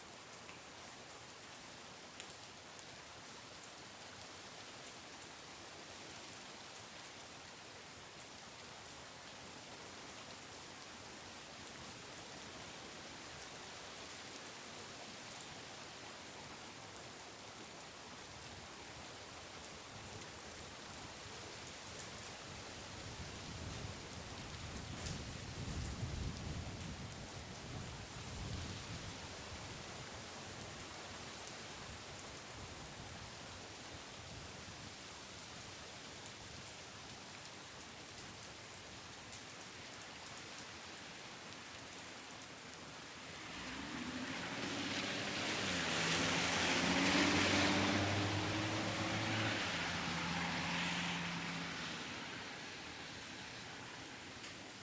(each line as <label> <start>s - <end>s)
rain falling on my residential street 0.0s - 54.8s
wet tires and puddles splashing 38.6s - 54.8s
Multiple cars drive by 43.2s - 54.6s